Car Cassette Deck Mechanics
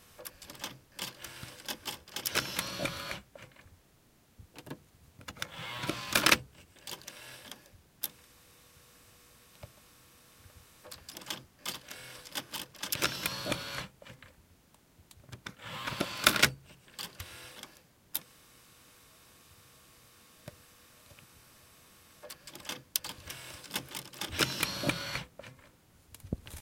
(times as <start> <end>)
0.2 3.6, 4.6 8.2, 10.8 14.2, 15.3 17.8, 22.2 25.6